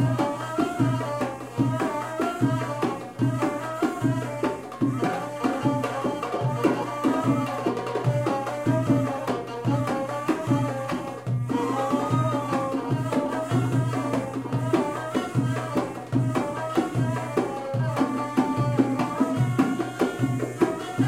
Egyptian music 0.0 - 21.0

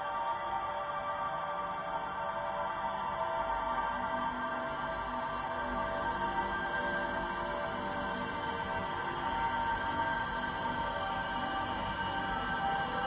slowly evolving dreamy ambient drone pad 0.0 - 13.0

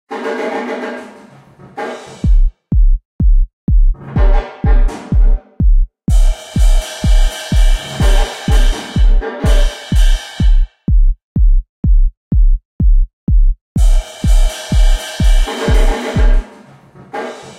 Roomy Drums 1.8 - 17.5
pounding electronic kickdrum 2.2 - 16.6

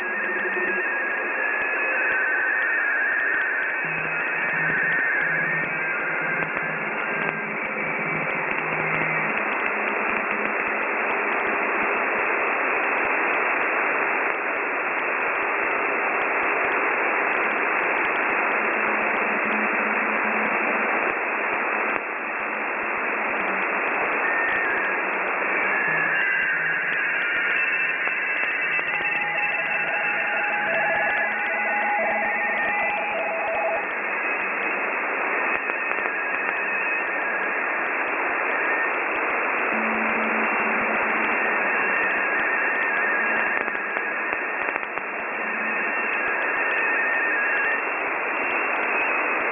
Ham radio morse code broadcasts 21.9 - 49.5

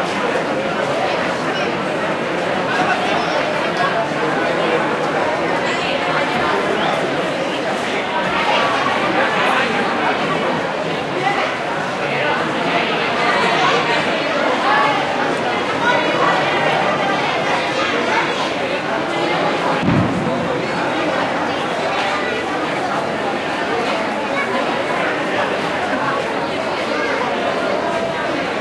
Crowd noise 0.0 - 28.6
children 0.0 - 28.6

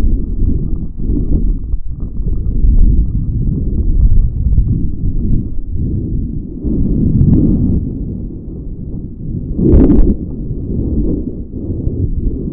constant bombardment of lava 0.0 - 12.5
low frequency boooms 0.0 - 12.5

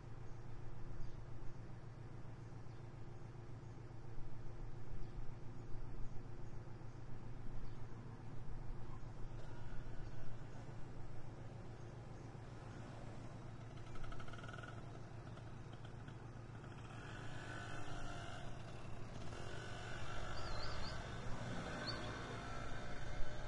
motoconchos 12.0 - 23.4

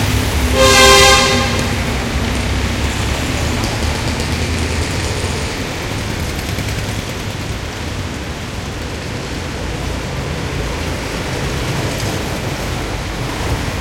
throaty cars (vintage and otherwise) 0.0 - 13.8
trucks passing by 0.0 - 13.8

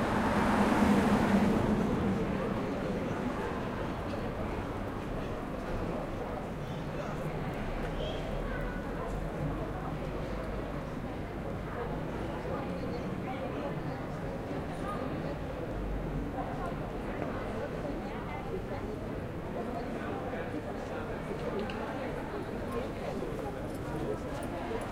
Cars and bikes drive by 0.0 - 4.9

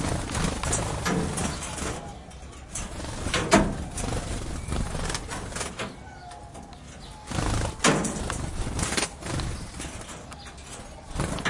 Birds in a cage flying about 0.0 - 11.4

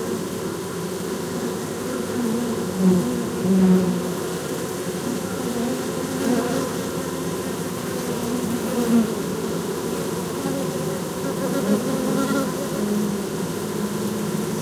Beehive 0.0 - 14.6

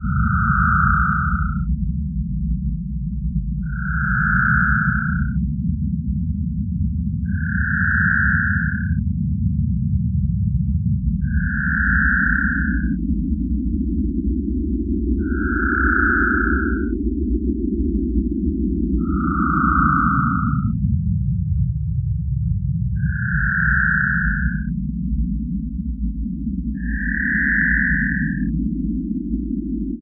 synth 0.0 - 1.7
synth 3.6 - 5.4
synth 11.2 - 13.0
synth 15.2 - 16.9
synth 19.0 - 20.8
synth 23.0 - 24.7
synth 26.8 - 28.5

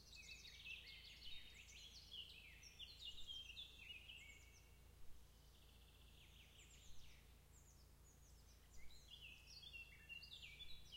birds 0.0 - 10.9
wind 0.0 - 10.9

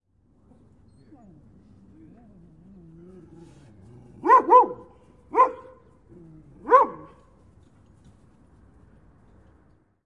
dog low growl 1.1 - 4.2
sharp barks 4.2 - 5.9
dog low growl 6.1 - 6.7
sharp barks 6.6 - 7.2

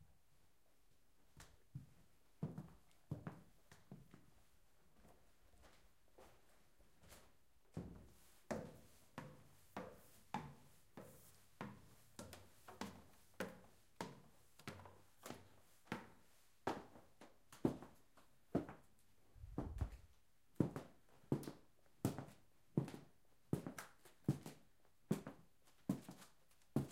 Walking up and down the stairs 0.2 - 26.9
steps on wooden floor moving 19.4 - 20.2

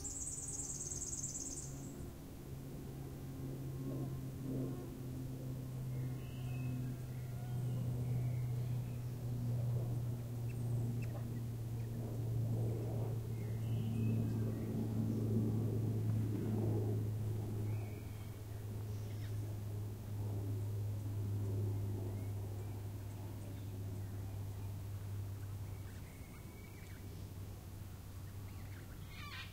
birds 0.0 - 2.0
flies 0.0 - 2.0
wind 0.0 - 29.5
birds 28.1 - 29.5

